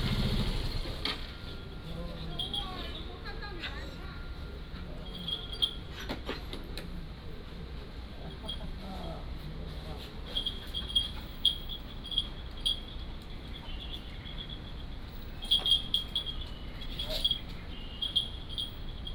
1.6s Chat 6.1s

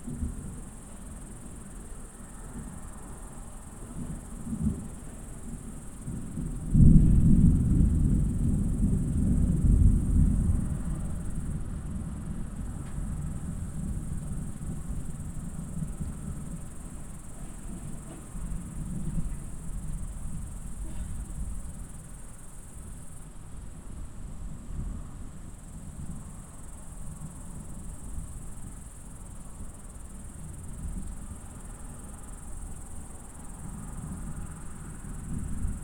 4.0s rolling thunder of an impending storm 22.0s

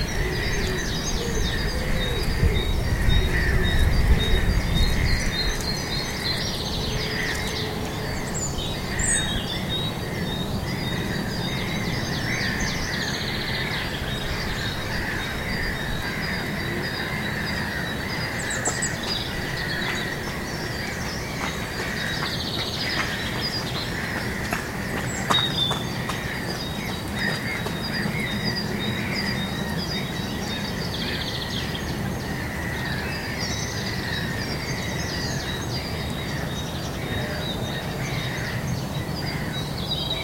0.0s birds 40.2s

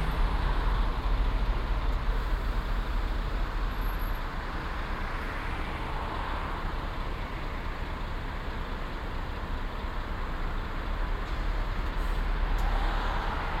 0.0s Traffic on and below a bridge 13.6s
0.0s road works 13.6s
0.0s trucks delivering asphalt waiting for discharging 13.6s

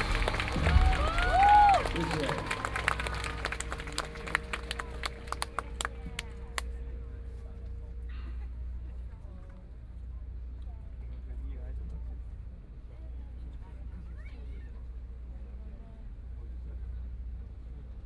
0.0s People cheering 6.3s

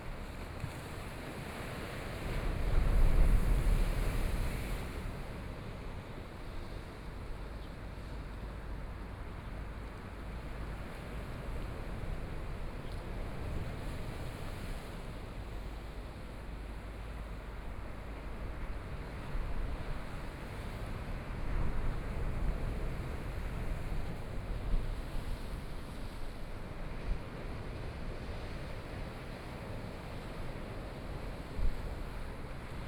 0.0s waves 32.8s

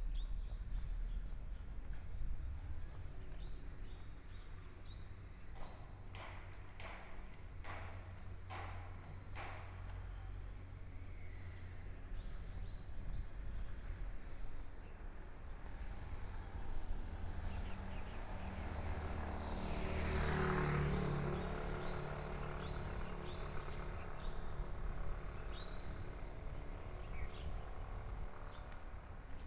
0.0s walking in the Street 29.4s
15.7s Traffic Sound 29.4s

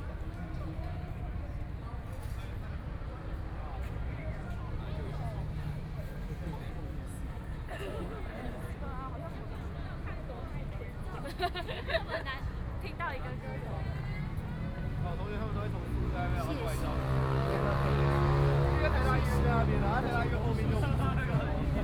13.4s Traffic Sound 21.8s

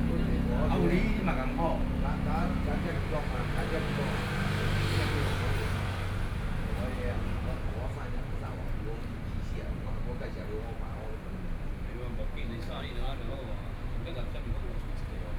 0.0s Traffic Sound 8.0s

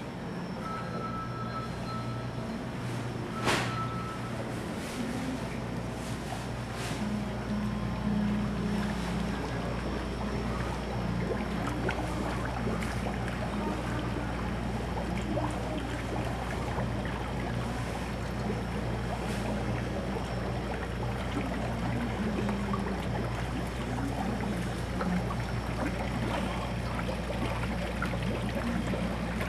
2.6s Walking in the market 11.0s

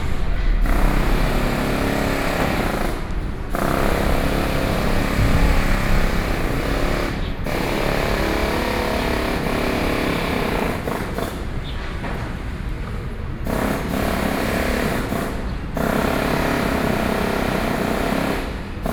0.0s construction of a building site 18.9s

